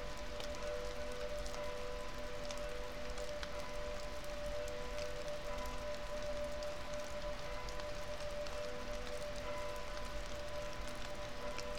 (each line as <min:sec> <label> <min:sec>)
0:00.0 Rain 0:11.7
0:00.0 melting snow 0:11.7